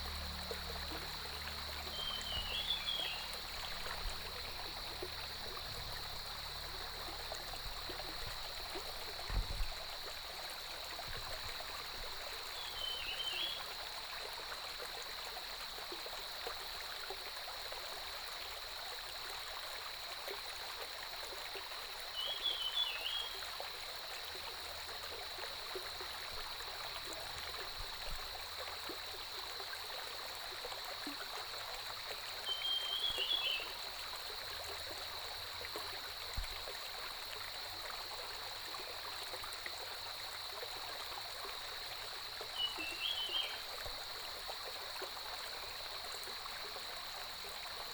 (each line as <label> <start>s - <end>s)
Cicadas cry 0.0s - 10.8s
Stream 0.0s - 47.9s
Birdsong 1.8s - 4.1s
Cicadas cry 11.8s - 14.0s
Cicadas cry 21.9s - 47.9s